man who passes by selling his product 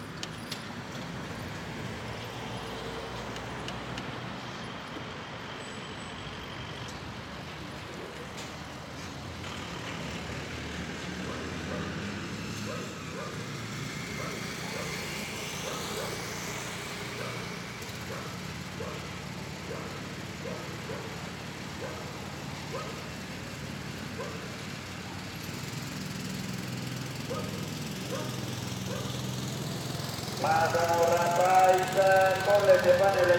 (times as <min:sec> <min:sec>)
0:27.2 0:33.3